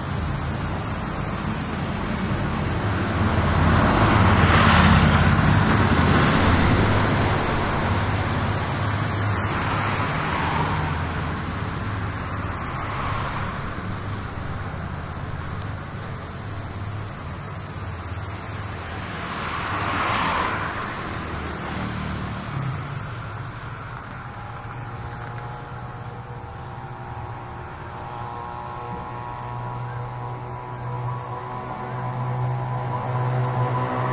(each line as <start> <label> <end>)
0.0 motorcycles 34.1
0.0 traffic 34.1